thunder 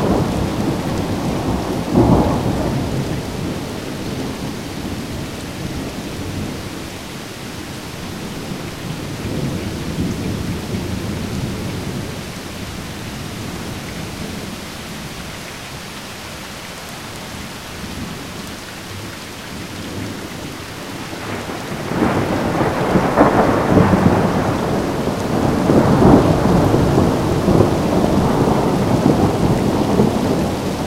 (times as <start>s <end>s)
0.0s 5.0s, 21.1s 30.8s